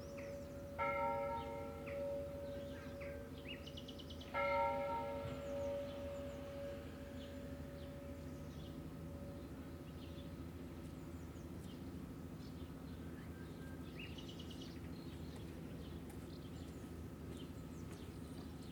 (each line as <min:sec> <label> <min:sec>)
0:00.0 bells ringing 0:03.4
0:04.3 bells ringing 0:09.6